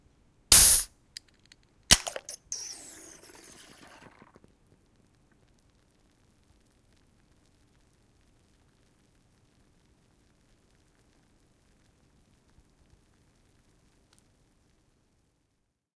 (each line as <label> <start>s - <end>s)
Opening a can of Guiness 0.5s - 4.4s